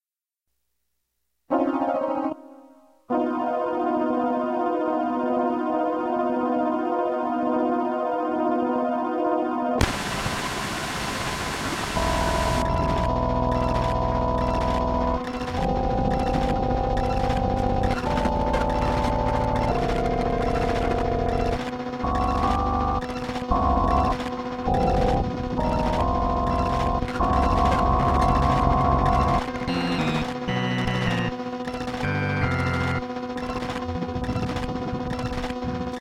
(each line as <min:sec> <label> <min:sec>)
0:12.0 piano trill glitchy frog 0:35.6